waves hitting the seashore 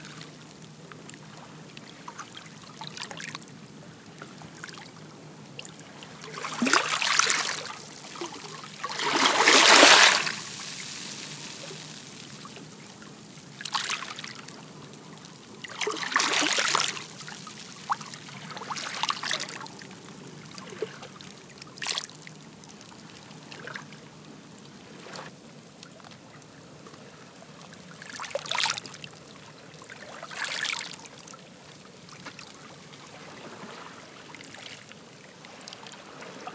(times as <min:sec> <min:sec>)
0:06.2 0:12.4